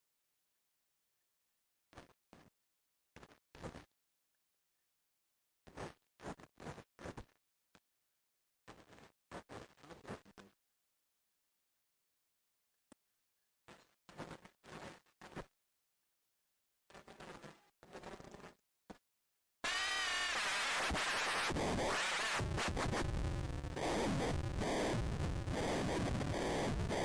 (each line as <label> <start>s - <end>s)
circuit board instrument in the shape of an audio cassette 19.6s - 27.0s